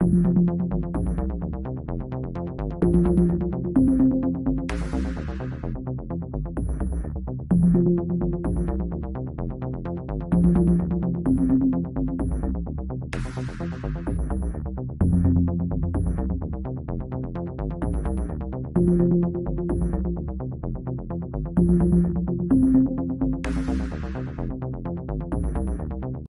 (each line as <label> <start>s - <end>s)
synth 0.0s - 1.4s
synth 2.7s - 5.6s
synth 7.5s - 9.0s
synth 10.3s - 12.5s
synth 17.9s - 20.3s
synth 21.5s - 24.5s